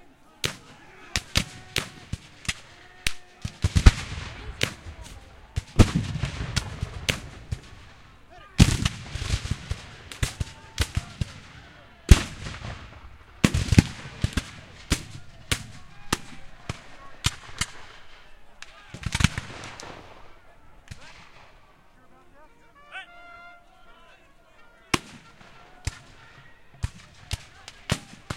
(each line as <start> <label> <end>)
0.0 cannons 28.3
0.0 cavalry 28.3
0.2 Marching past 28.3
0.3 Black powder rifles 22.9
24.8 Black powder rifles 28.3